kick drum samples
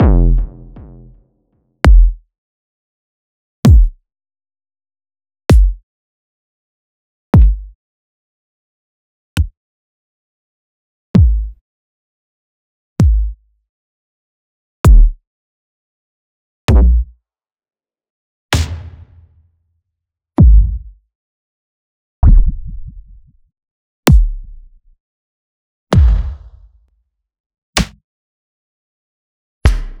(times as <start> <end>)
0.0 1.0, 1.9 2.2, 3.7 4.0, 5.5 5.8, 7.4 7.7, 11.2 11.6, 13.0 13.3, 14.9 15.2, 16.7 17.1, 20.4 20.9, 22.2 23.0, 24.1 24.4, 25.9 26.7, 29.7 30.0